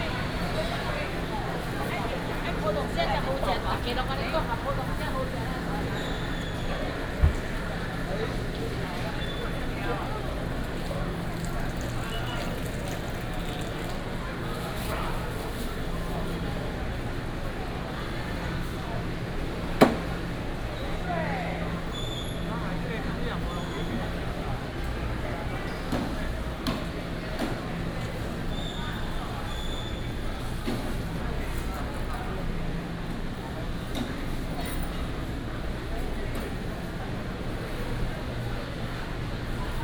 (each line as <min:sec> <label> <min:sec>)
0:00.0 Walking through the market 0:39.8